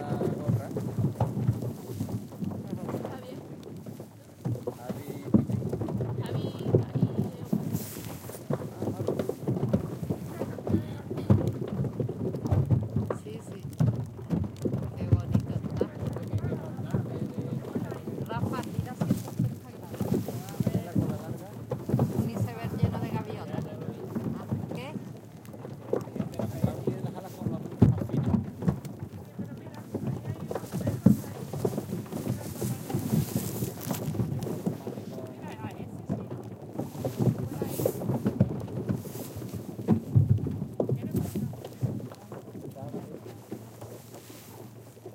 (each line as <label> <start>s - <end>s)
voices in background 0.0s - 11.8s
icefloats strike the boat 0.0s - 45.1s
voices in background 14.8s - 40.1s